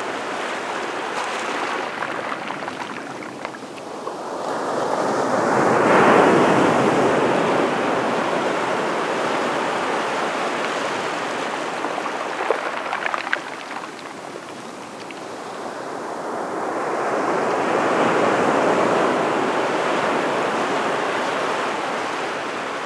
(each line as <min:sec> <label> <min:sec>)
0:00.0 sea 0:22.8
0:00.8 shells rolling into the waves 0:04.2